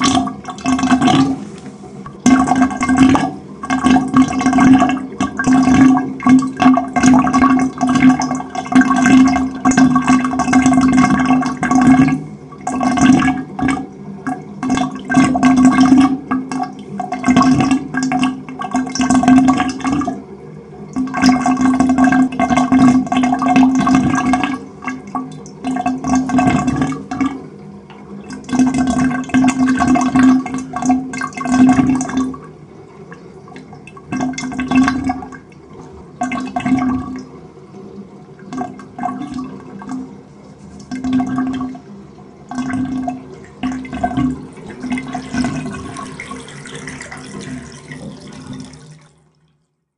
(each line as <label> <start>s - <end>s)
water quietly swirls in a counter-clockwise motion into the drain/plughole 0.0s - 49.8s
Bathtub-Drain 0.0s - 49.9s
filling up the bathtub completely full 0.0s - 49.9s